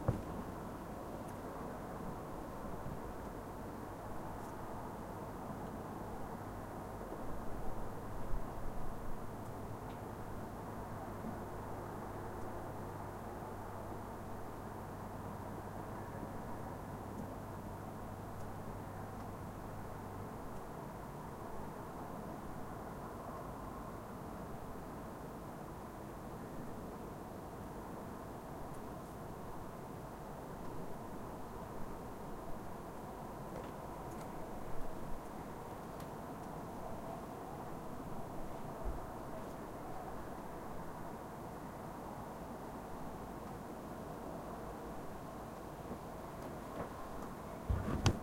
0.0s city noise 48.2s

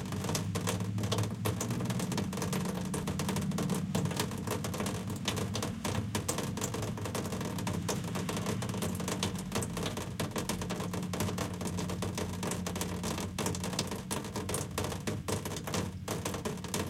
0.0s distant street noise 16.8s
0.0s raindrops on a window air conditioner 16.8s

